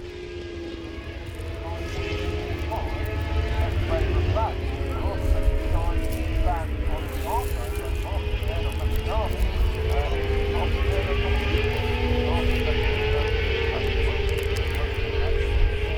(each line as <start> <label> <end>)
0.0 motorcycle grand prix 15.9